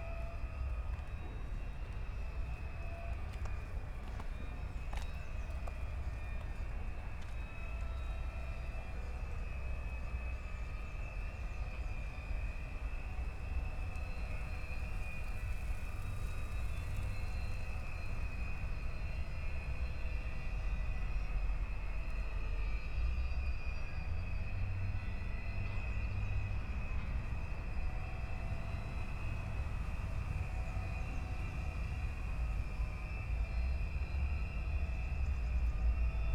rusty ferris wheel starts moving and sqeaking in the wind 0.0 - 36.3

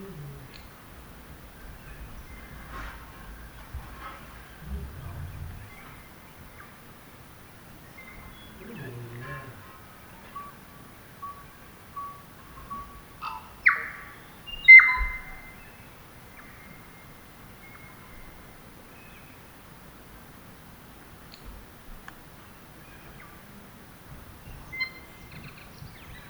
Birdlife 0.0 - 19.6
Birdlife 22.4 - 26.2

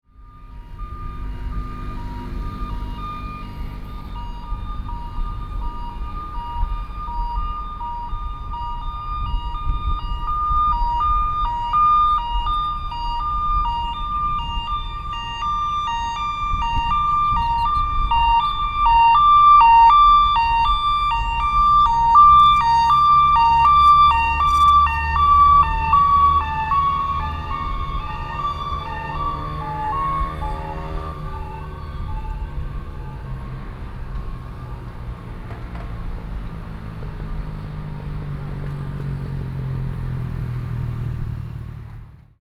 Emergency ambulance 0.0 - 42.4

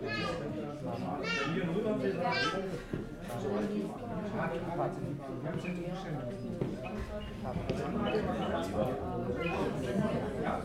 people sitting and talking german 0.0 - 10.6

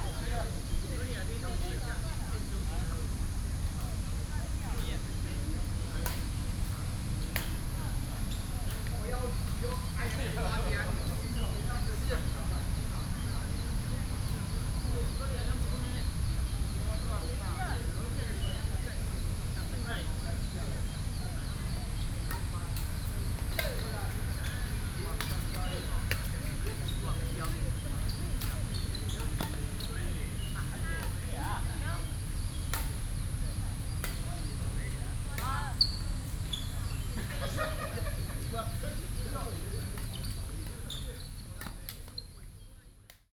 Playing badminton 13.1 - 42.3

